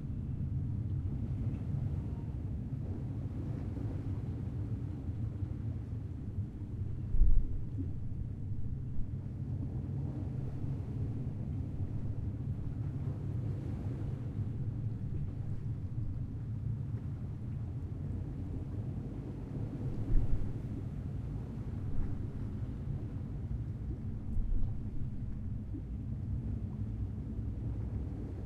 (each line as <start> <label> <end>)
0.0 waves 28.4